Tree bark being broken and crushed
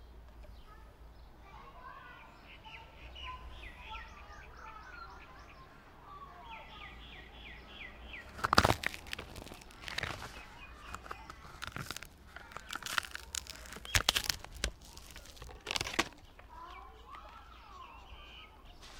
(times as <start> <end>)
8.2 16.5